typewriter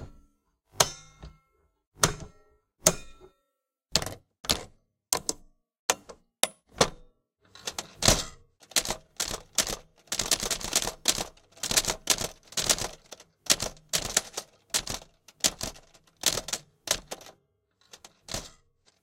7.6 19.0

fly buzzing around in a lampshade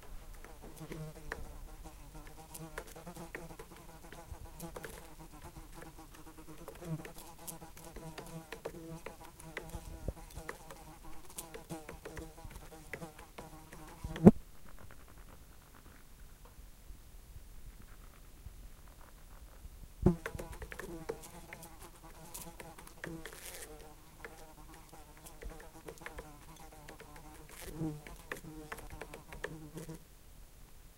0.2 14.4, 20.1 30.0

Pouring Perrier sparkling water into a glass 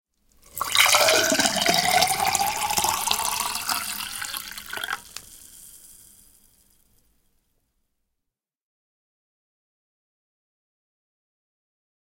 0.4 6.3

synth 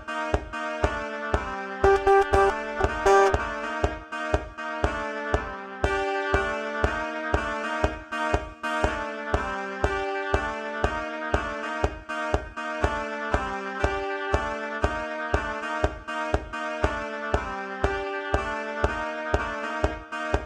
1.8 3.8

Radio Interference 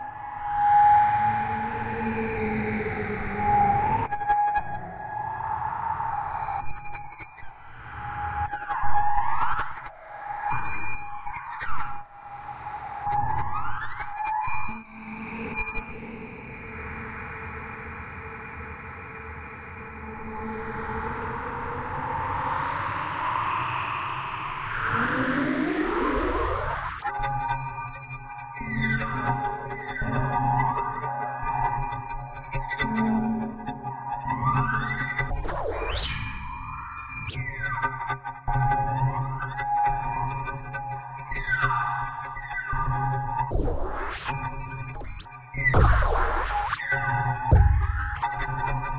45.8 48.6

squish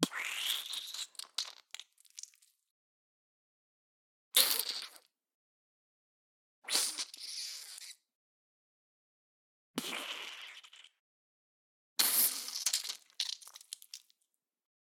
0.1 2.6, 9.8 11.0, 12.0 14.3

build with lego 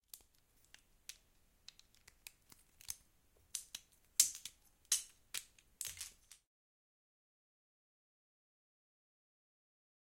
0.0 6.5

